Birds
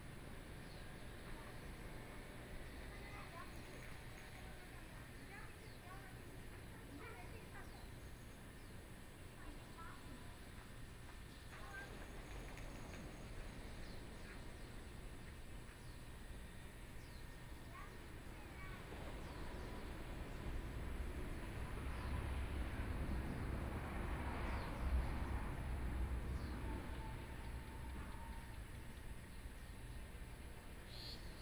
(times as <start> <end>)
9.8 31.4